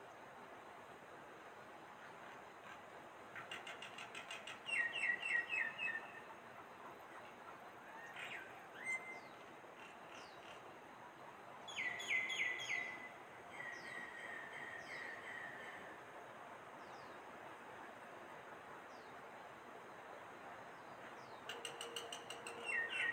Taiwan Whistling Thrush 4.7 - 6.1
Taiwan Whistling Thrush 8.3 - 9.4
Taiwan Whistling Thrush 11.7 - 15.7
Taiwan Whistling Thrush 21.5 - 23.1

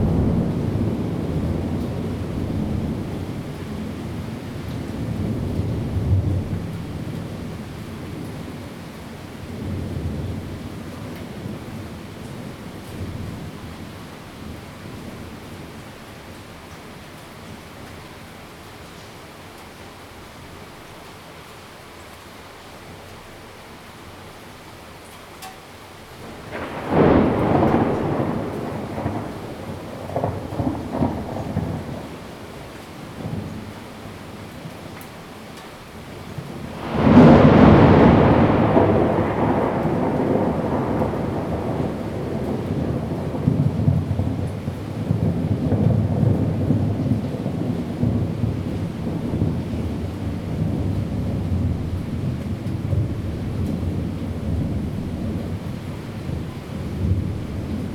thunder 0.0 - 7.2
thunder 26.2 - 32.3
thunder 36.6 - 57.9

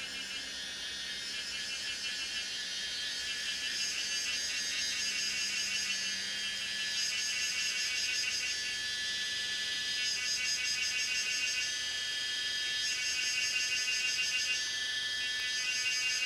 Cicadas sound 0.0 - 16.2

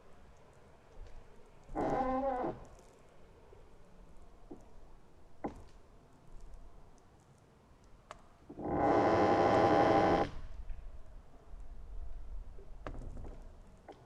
singing trees in oakwood 0.0 - 10.6

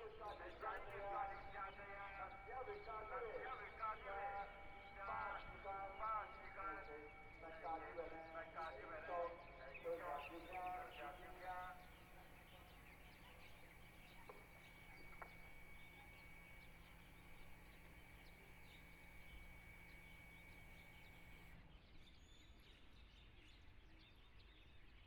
Birds singing 0.0 - 25.0
Broadcast Sound 9.9 - 21.5
Pumping motor sound 9.9 - 21.6

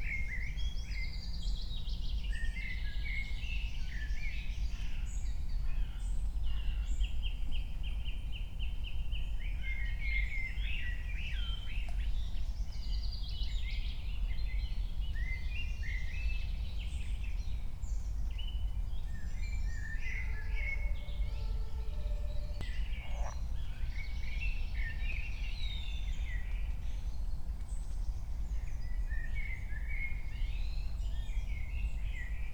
drone 19.7 - 23.6
frog 20.2 - 23.6

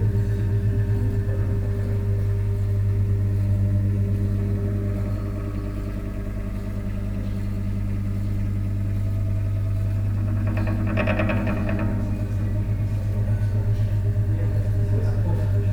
voices in the background 11.7 - 15.7

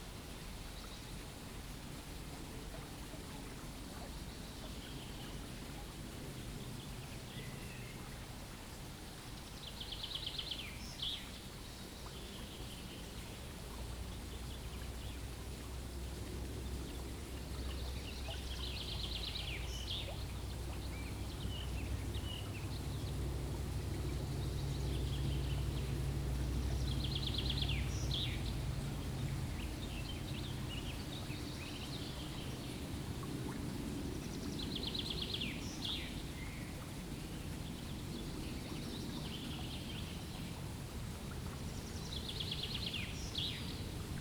Stream 0.0 - 44.2

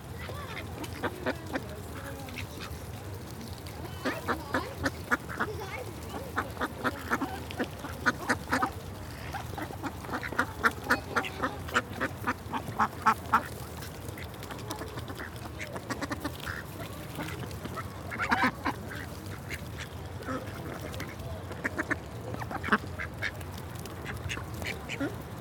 ducks 0.0 - 25.4
parents and children meeting and feeding the ducks 0.0 - 25.4
fence pinging with the ducks pecking underneath it 0.1 - 25.4
noisier more authoritative voices belong to the females 0.2 - 19.2

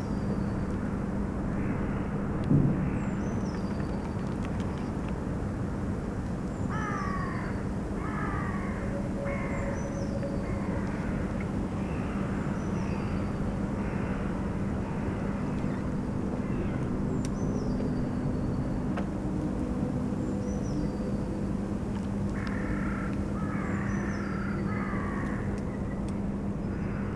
crows 6.7 - 9.6
crows 22.4 - 25.5

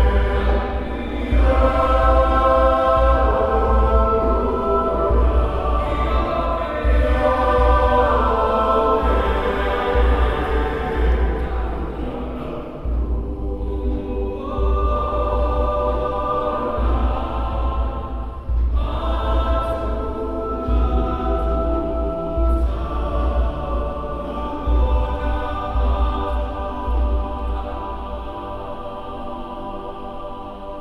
song of praise 0.0 - 30.8

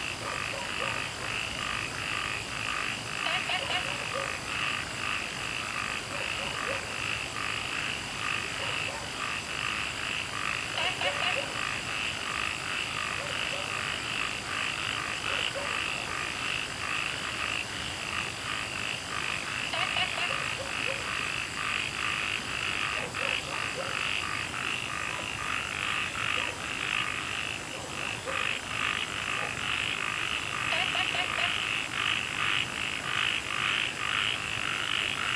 Frogs chirping 0.0 - 35.3
Dogs barking 0.2 - 1.4
Dogs barking 3.3 - 4.4
Dogs barking 6.0 - 7.0
Dogs barking 8.5 - 9.2
Dogs barking 10.8 - 11.6
Dogs barking 13.1 - 13.9
Dogs barking 15.2 - 16.1
Dogs barking 19.8 - 21.2
Dogs barking 22.9 - 24.1
Dogs barking 25.0 - 25.4
Dogs barking 26.3 - 26.7
Dogs barking 27.6 - 28.6
Dogs barking 29.3 - 29.7

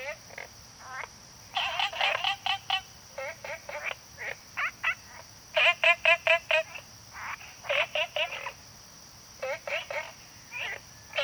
Frogs chirping 0.0 - 11.2

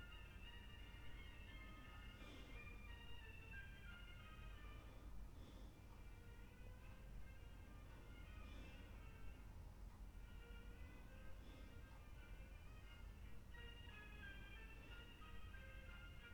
room neighbour's breath 0.4 - 16.1

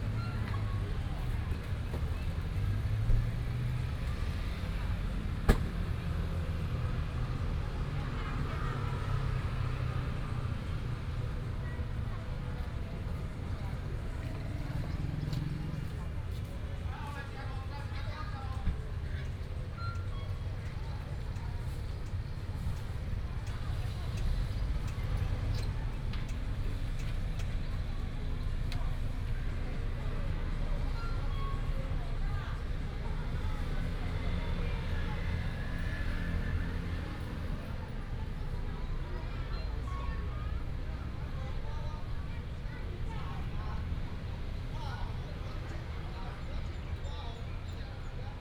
Traffic sound 0.0 - 48.4

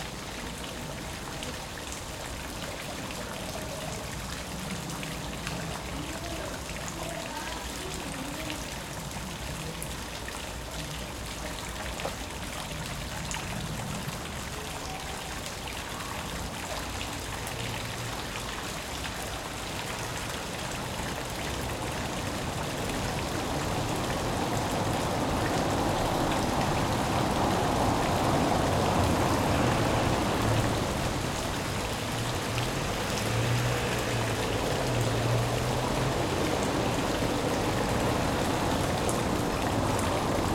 Artesian well 0.0 - 40.5

